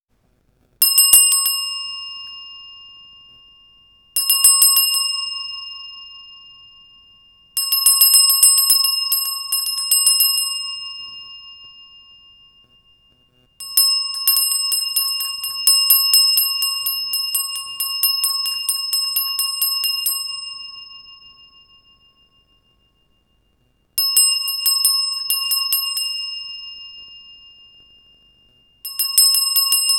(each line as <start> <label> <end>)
0.8 handbell sounded in front of microphone 29.9